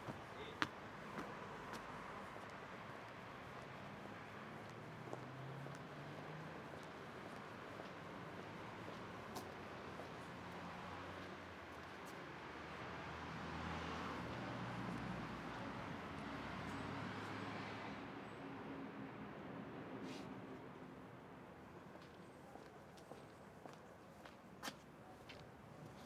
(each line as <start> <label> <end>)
0.1 walking around new sport center 12.8
21.6 walking around new sport center 26.0